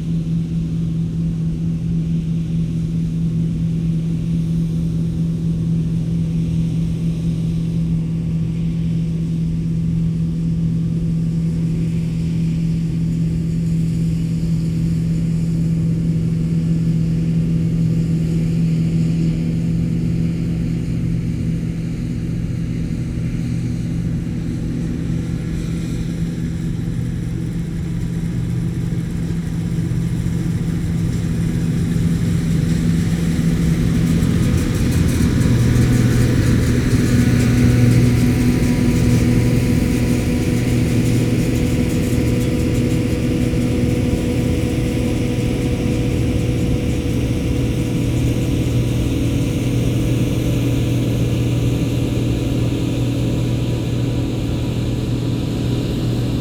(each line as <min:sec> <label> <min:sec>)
0:25.5 Combine harvesting 0:56.4